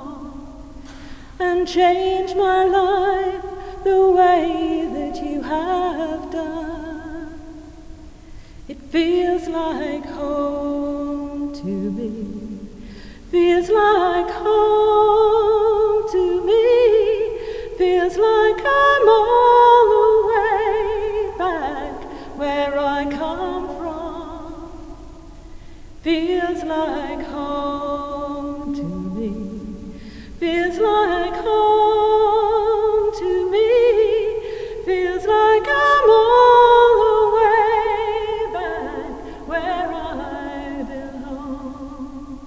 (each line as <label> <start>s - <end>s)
visitor singing 30.4s - 42.4s